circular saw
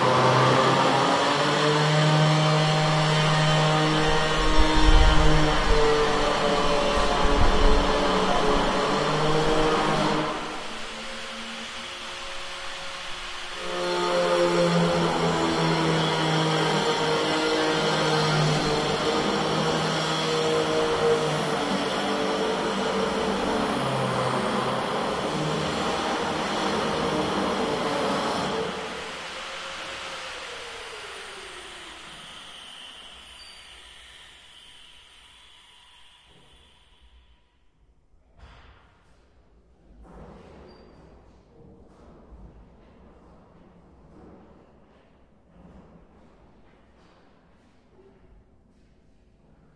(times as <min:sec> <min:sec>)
0:00.0 0:37.6